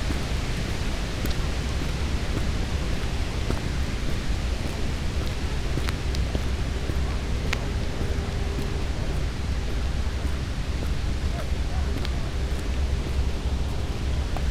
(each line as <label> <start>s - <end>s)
sounds of cement factory slowly appear 0.0s - 14.5s
walking 0.0s - 14.5s